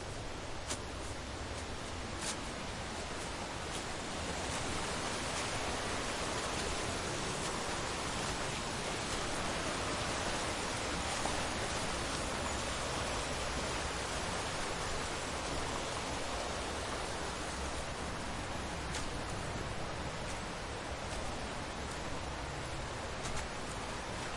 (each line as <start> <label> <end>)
0.0 small rushing river 24.3
0.0 waterfall 24.3
0.1 Walking on rocky/shingle ground 6.8
18.6 Walking on rocky/shingle ground 24.3